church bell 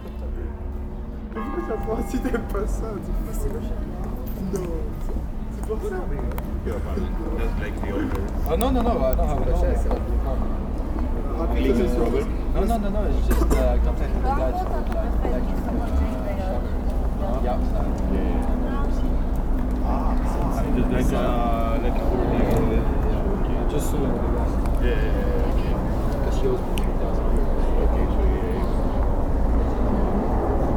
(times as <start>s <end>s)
1.3s 4.7s